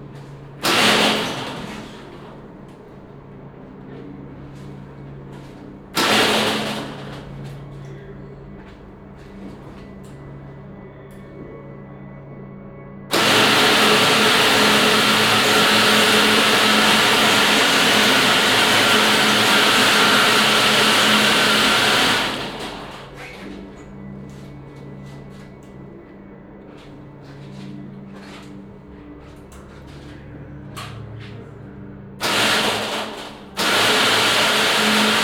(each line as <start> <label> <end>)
0.0 other machines 12.2
13.1 other machines 35.2
32.2 small motors that start to move and rattle 35.2